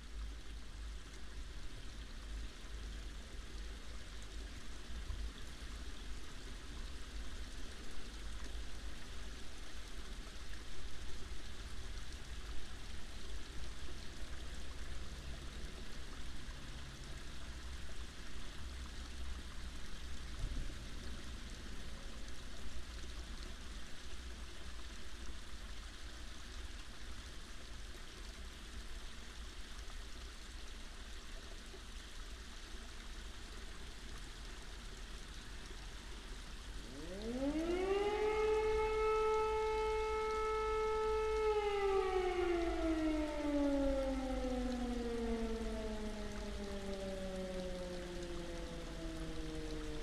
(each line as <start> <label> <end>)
36.6 civil safety sirens 50.0